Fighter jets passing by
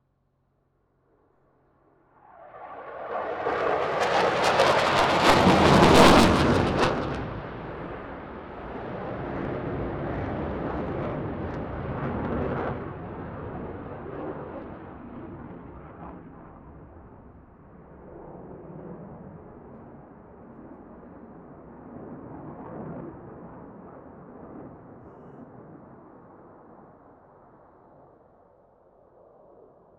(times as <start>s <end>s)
1.9s 20.2s